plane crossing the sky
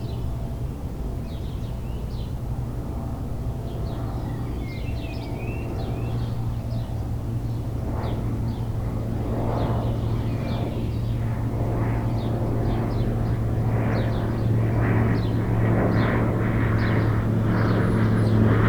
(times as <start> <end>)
5.2 18.6